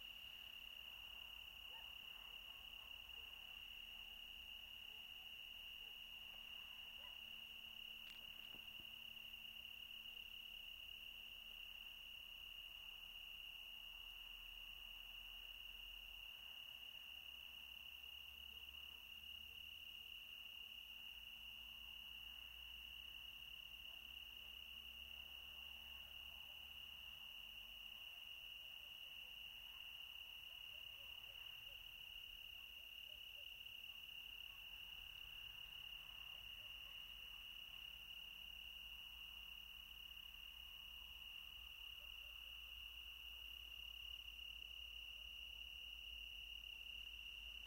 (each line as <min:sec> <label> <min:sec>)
0:00.0 crickets 0:47.6
0:01.6 distant dogs barking 0:03.0
0:06.4 distant dogs barking 0:07.5